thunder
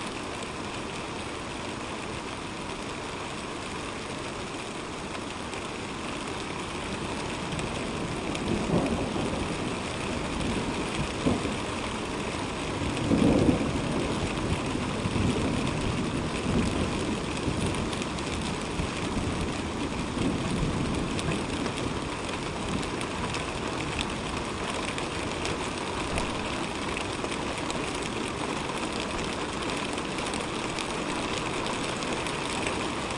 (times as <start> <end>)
8.3 11.7, 12.8 19.2